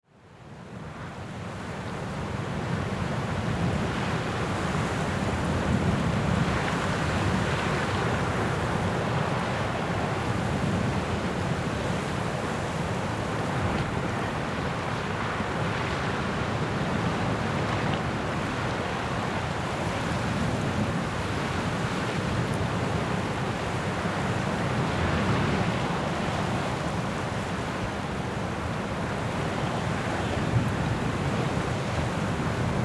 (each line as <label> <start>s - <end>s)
Wind grass 0.5s - 32.8s